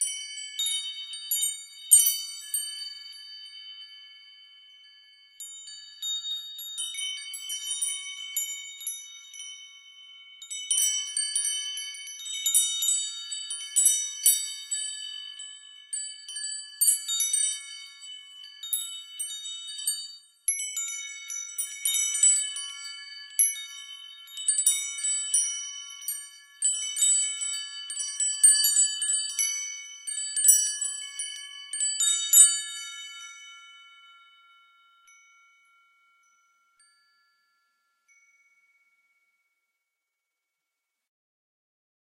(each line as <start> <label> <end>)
0.0 Small windchimes 40.9